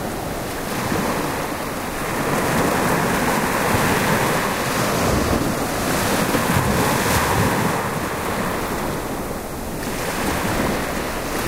waves 0.0 - 11.4

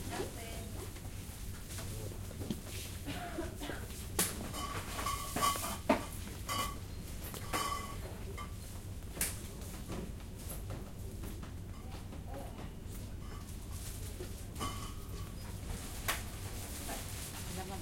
people working and people buying 0.0 - 17.8

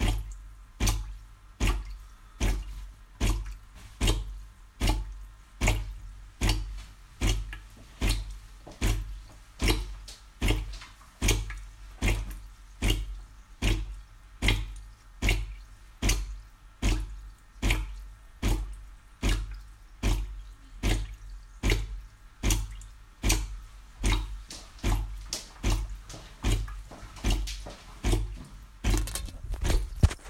drips 0.0 - 30.2
descaling my espresso maker 26.4 - 30.2

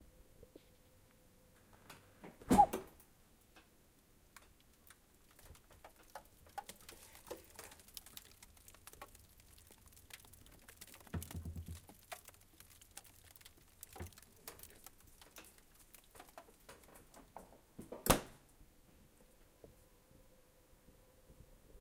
frozen packages inside slightly crinkling 3.4 - 18.5

